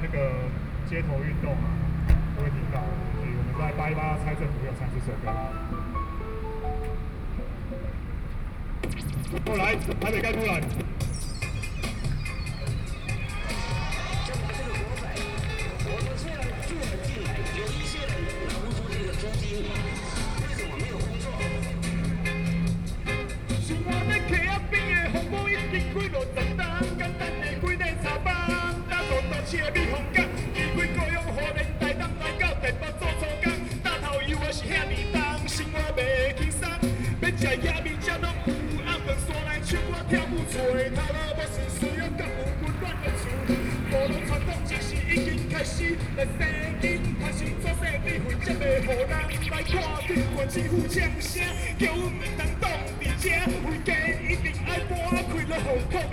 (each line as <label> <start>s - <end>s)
Broadcast sound 0.0s - 7.2s
traffic noise 0.0s - 56.1s
Broadcast sound 8.8s - 32.4s